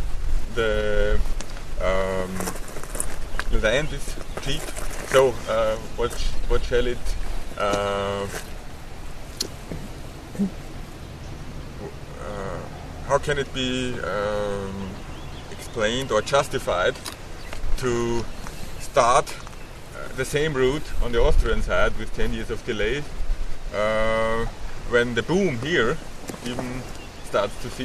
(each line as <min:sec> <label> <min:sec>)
0:09.6 environmental and civil rights activist indicating 0:17.1
0:23.7 environmental and civil rights activist indicating 0:27.8